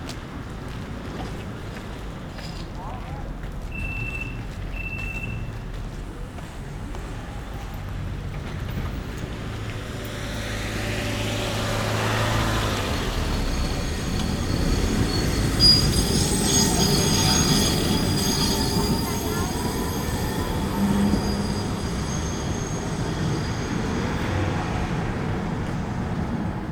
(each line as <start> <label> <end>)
0.0 Straßenbahnendhaltestelle 26.7